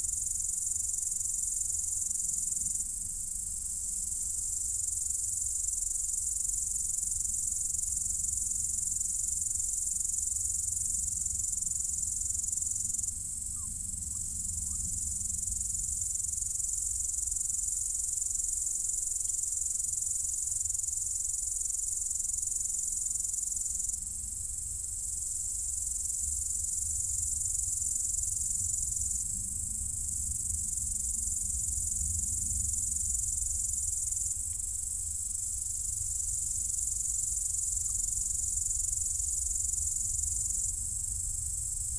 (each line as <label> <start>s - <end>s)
high sounds of insects 0.0s - 41.9s